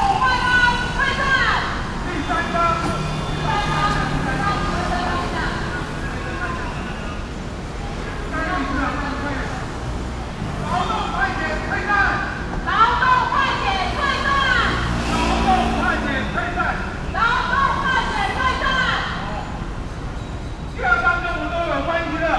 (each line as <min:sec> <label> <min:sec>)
0:00.0 Labor protest 0:22.3